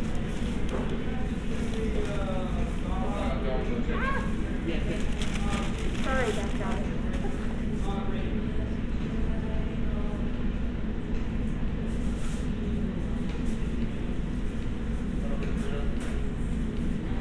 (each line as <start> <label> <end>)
0.0 people ordering 7.7
4.7 crinkling of paper bags 7.4